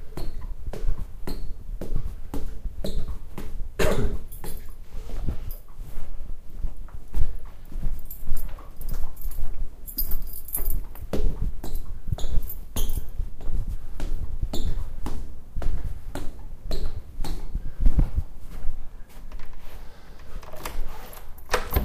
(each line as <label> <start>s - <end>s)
foot steps 0.0s - 21.8s
throwing the keys on the table 4.3s - 4.8s
find my keys 7.8s - 11.1s
throwing the keys on the table 8.0s - 11.0s
find my keys 19.2s - 21.8s
open the door to my apartment 19.2s - 21.8s
throwing the keys on the table 20.2s - 21.8s
unlock the door to open it 20.2s - 21.8s